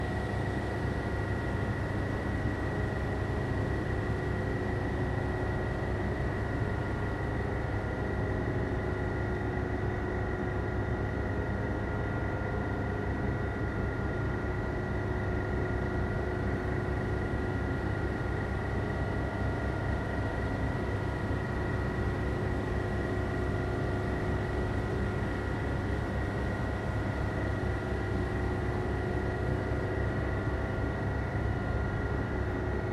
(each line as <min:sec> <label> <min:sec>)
0:00.0 Fan Ventilation 0:32.9